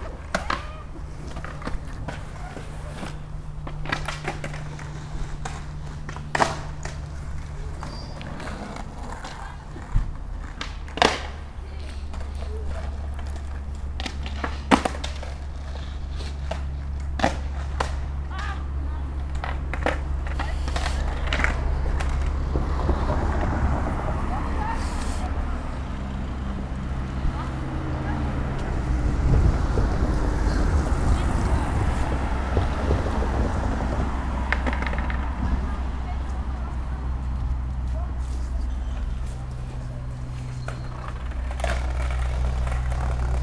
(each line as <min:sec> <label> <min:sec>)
0:00.0 skater on the street 0:43.4
0:17.6 the tram passes by 0:43.4